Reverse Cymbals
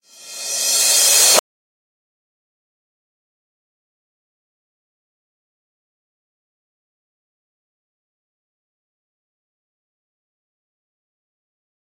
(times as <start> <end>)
0.0 1.4